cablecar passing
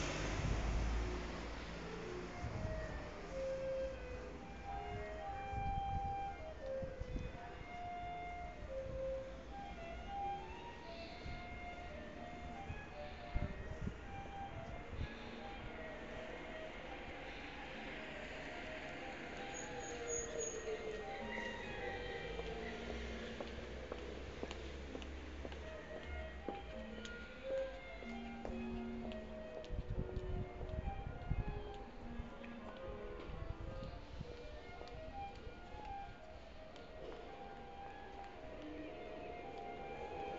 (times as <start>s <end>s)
0.0s 4.5s, 13.8s 25.4s, 36.5s 40.3s